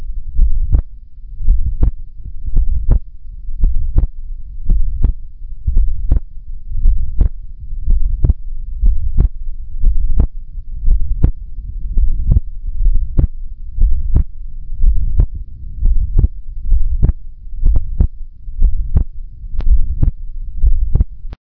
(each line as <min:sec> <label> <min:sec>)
0:00.0 Slow heart beat 0:21.4